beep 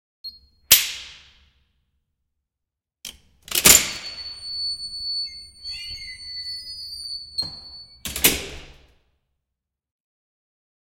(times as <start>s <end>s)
3.9s 8.0s